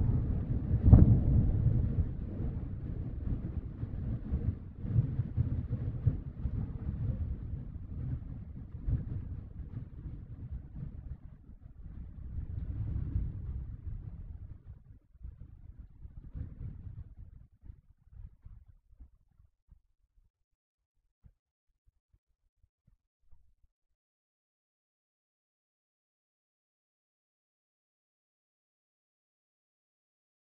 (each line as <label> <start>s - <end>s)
loudest thunder 0.0s - 7.5s